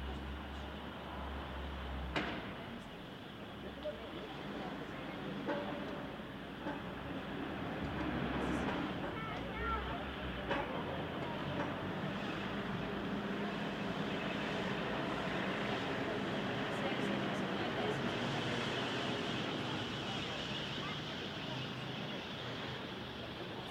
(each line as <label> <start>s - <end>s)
family in a park 0.0s - 23.7s
noises from a small construction site 0.0s - 23.7s
sounds from the street 0.0s - 23.7s